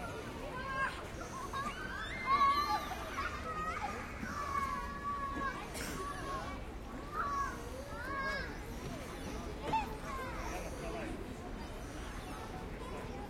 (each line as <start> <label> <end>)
0.0 children play 13.2